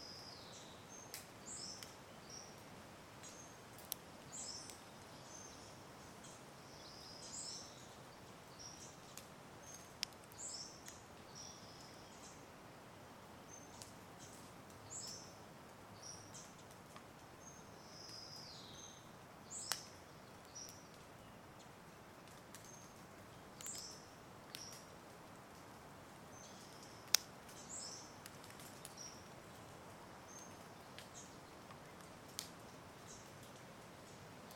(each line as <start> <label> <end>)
1.0 dripping tree sounds 34.5